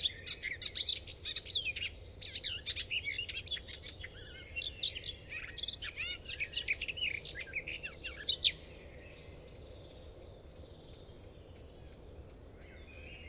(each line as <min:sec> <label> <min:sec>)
0:00.0 Garden warbler (sylvia borin) singing 0:09.7